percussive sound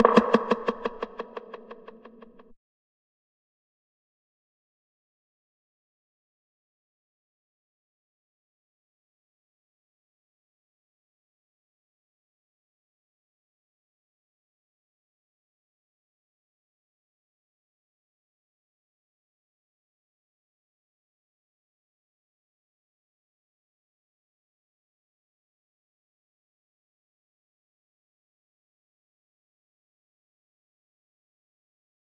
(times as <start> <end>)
0.0 2.4